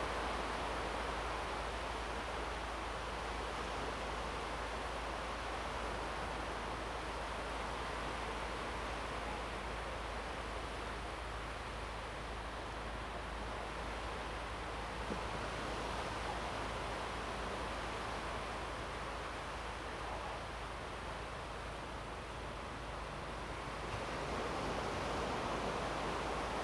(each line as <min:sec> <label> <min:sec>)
0:23.0 the waves 0:26.6